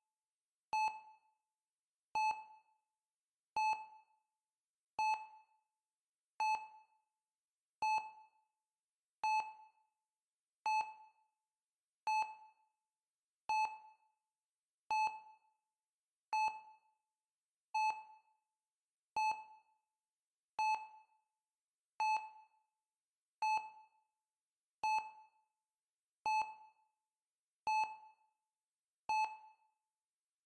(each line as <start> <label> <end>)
2.2 heart rate monitor 2.6
27.7 heart rate monitor 28.0